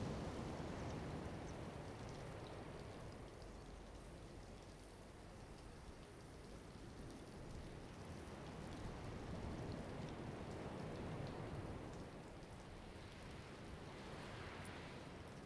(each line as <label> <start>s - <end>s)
waves 9.4s - 15.4s